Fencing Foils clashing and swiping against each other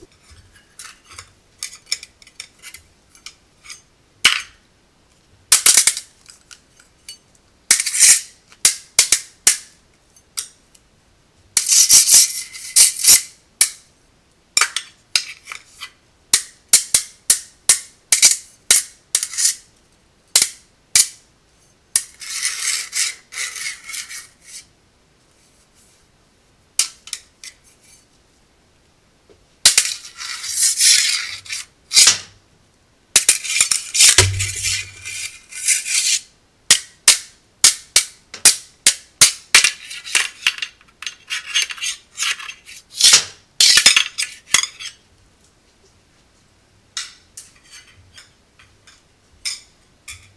5.5 10.6, 11.6 13.9, 14.6 19.7, 20.3 21.2, 22.0 24.7, 29.6 32.4, 33.2 45.0

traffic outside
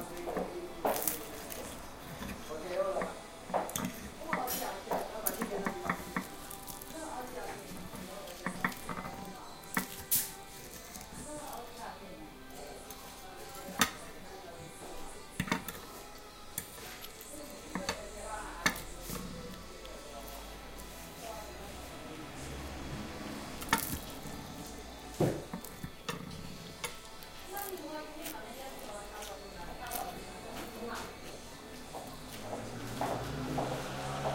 20.2 25.5, 32.2 34.3

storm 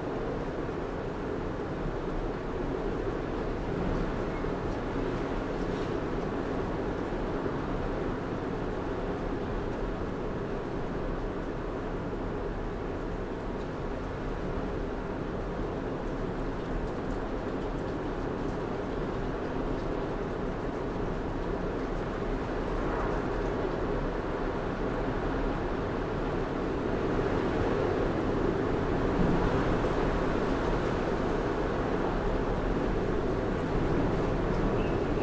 20.9 35.2

